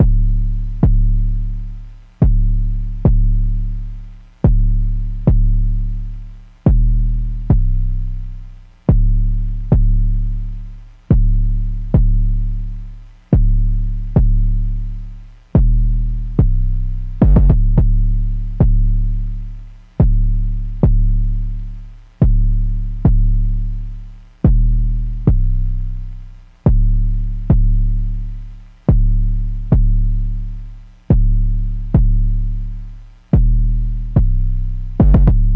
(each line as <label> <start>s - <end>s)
Synth Bass 0.0s - 35.5s